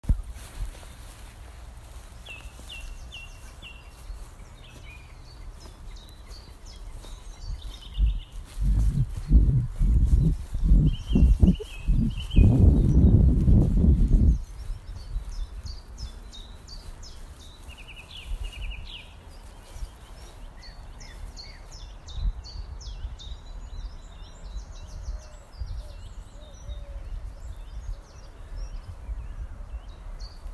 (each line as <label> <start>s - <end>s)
Birdsong 0.0s - 30.5s